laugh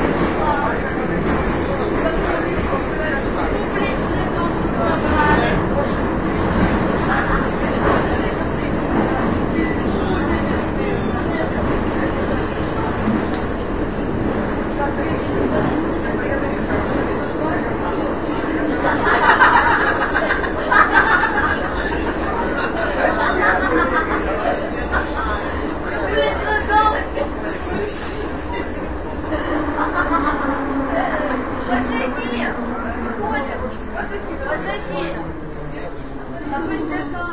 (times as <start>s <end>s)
18.6s 25.6s, 29.2s 31.1s